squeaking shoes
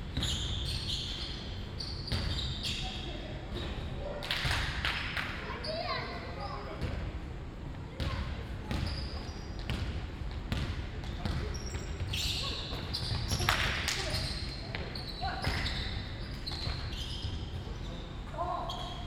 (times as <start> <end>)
0.1 4.0, 8.7 9.9, 11.1 19.0